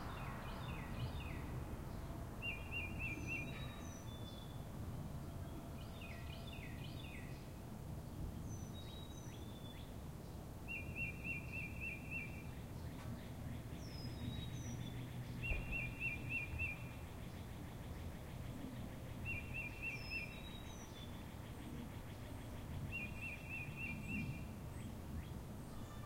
Birds singing 0.0 - 26.0

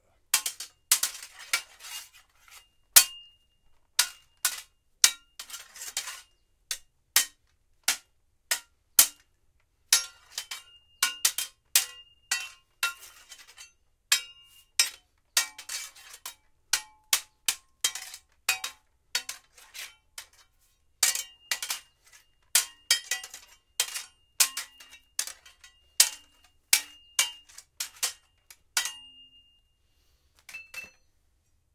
clashing a Kitana sword on a really big crowbar 0.3 - 3.4
clashing a Kitana sword on a really big crowbar 4.0 - 9.3
clashing a Kitana sword on a really big crowbar 9.9 - 29.4

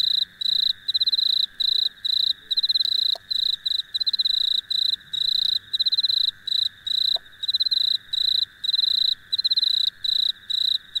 frog that makes occasional clicks 0.0 - 10.8
crickets or cicadas 0.0 - 11.0

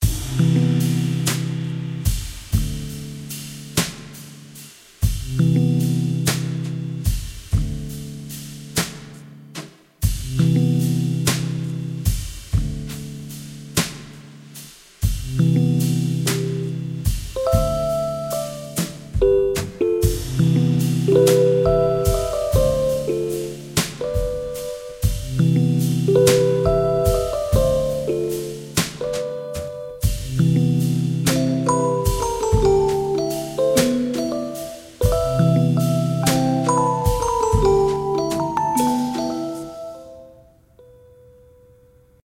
music 0.0 - 42.2

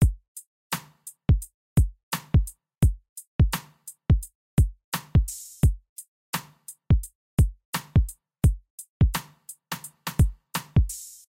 hi hat 0.0 - 11.3
snare 0.7 - 1.1
snare 2.1 - 2.4
snare 3.6 - 3.9
snare 5.0 - 5.5
snare 6.4 - 6.8
snare 7.8 - 8.0
snare 9.2 - 11.3

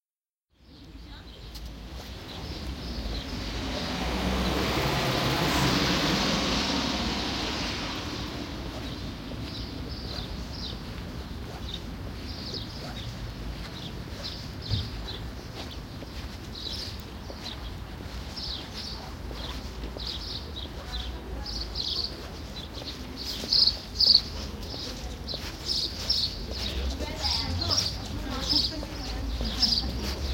birds 0.6 - 4.6
car 3.1 - 9.0
birds 8.1 - 30.3

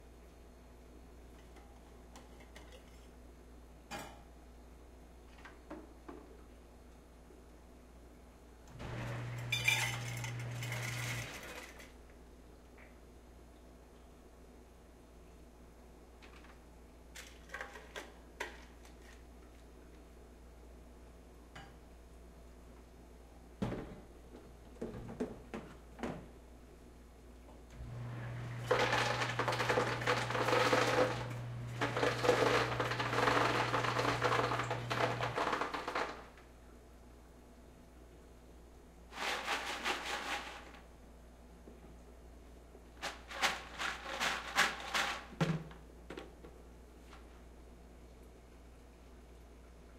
vending machine 8.8 - 11.9
Ice Maker Machine 8.8 - 11.9
vending machine 27.8 - 36.3
Ice Maker Machine 27.8 - 36.3

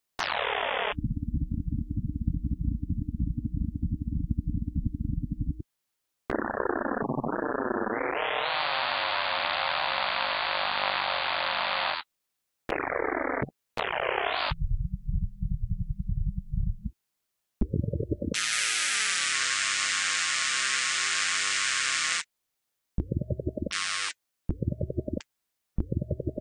repetitive engine thrums 14.6 - 17.0

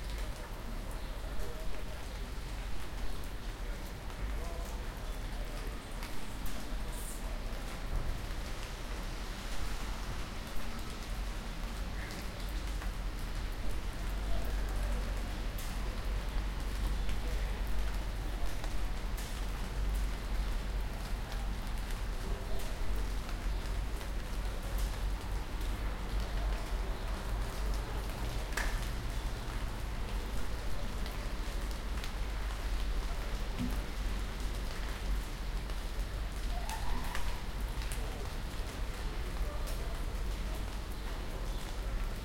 Rain is dripping from the trees 0.0 - 42.2

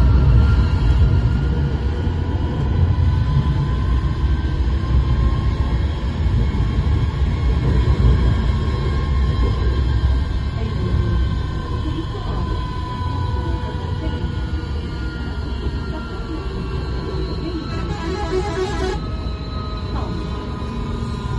sounds of passengers 0.0 - 21.3
tram 0.0 - 21.3
stop announcements in Turkish 17.4 - 19.1

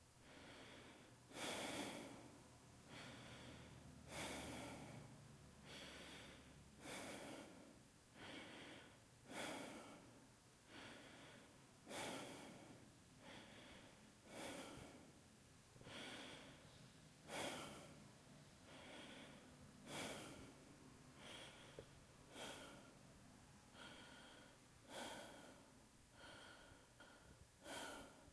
Deep Heavy Breathing 0.2 - 15.2
Deep Heavy Breathing 15.8 - 28.3

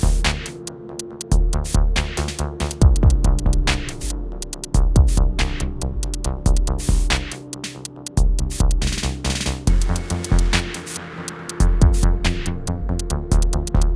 music 0.0 - 13.9

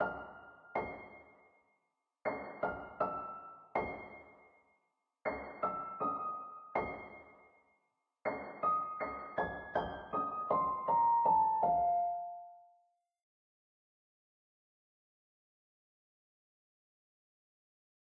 piano 0.0 - 13.0

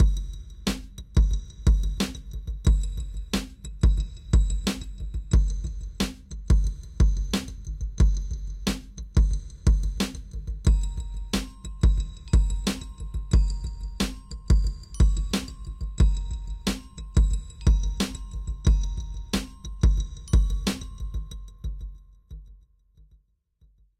bells 10.7 - 22.0

